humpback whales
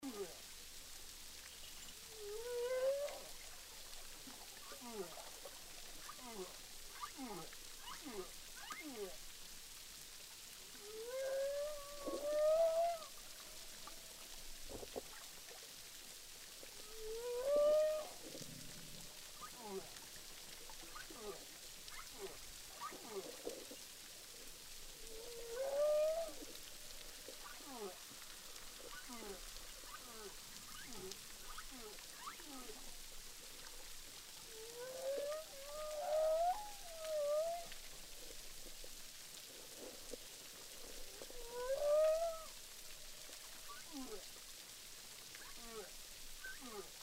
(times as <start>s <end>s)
2.1s 3.4s, 10.8s 13.7s, 16.8s 20.1s, 25.2s 26.6s, 34.5s 38.3s, 40.8s 42.6s